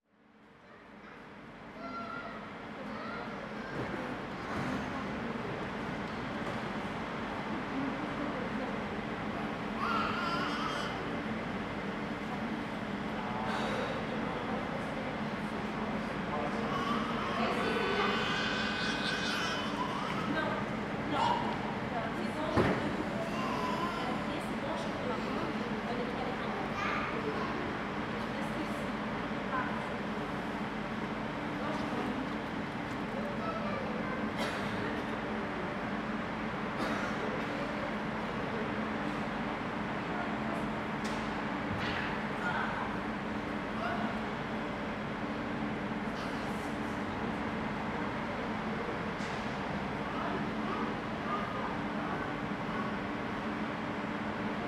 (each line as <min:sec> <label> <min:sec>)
0:00.4 trains passing by 0:54.6
0:01.0 voices 0:44.8